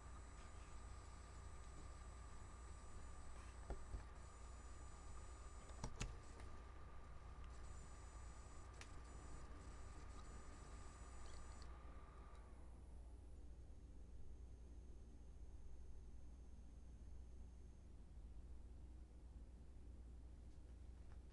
0.0s boot cycle of my laptop 12.6s
0.0s fan 21.3s

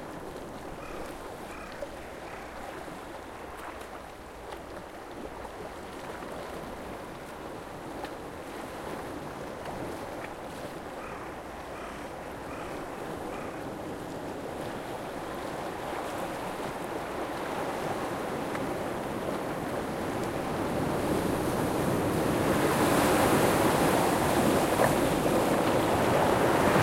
0.8s crow 2.6s
11.0s crow 13.6s
22.8s shore sound 26.8s

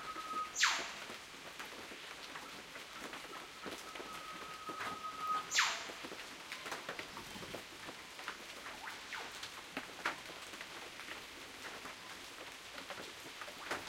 0.0s Rain 13.8s
0.6s Northern Whipbirds 1.1s
4.3s Northern Whipbirds 6.1s
8.7s Northern Whipbirds 9.6s

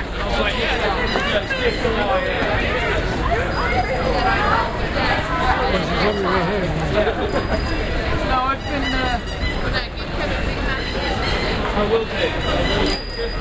3.4s Taxi Bike Bells 5.3s
7.1s Taxi Bike Bells 9.6s
12.4s Taxi Bike Bells 13.4s

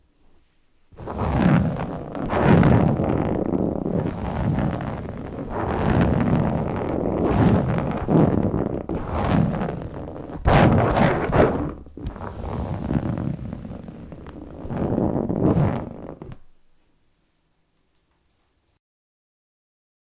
1.0s Scratching on a chair 16.4s

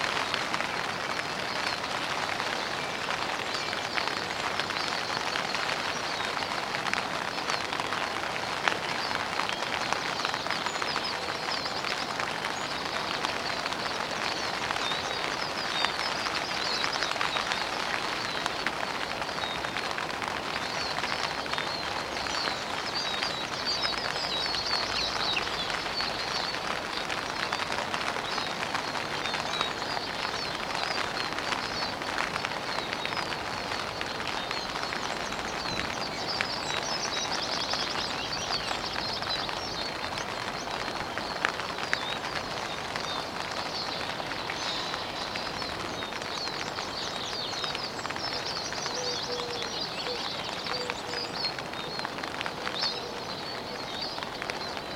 0.0s Rain in a tent 54.9s

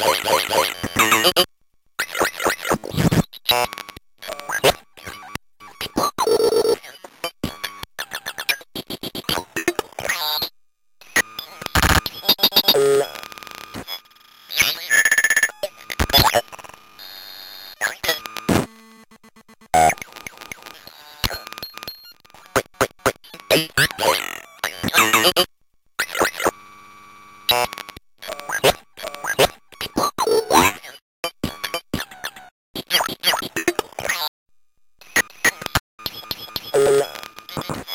0.0s circuit bent speak and spell 3.7s
17.7s circuit bent speak and spell 18.7s
22.4s circuit bent speak and spell 26.5s

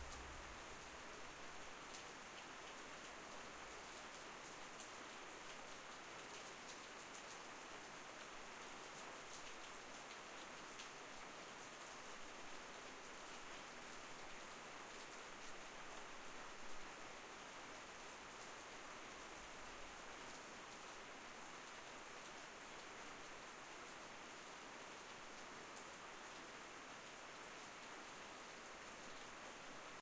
0.0s Rain 30.0s

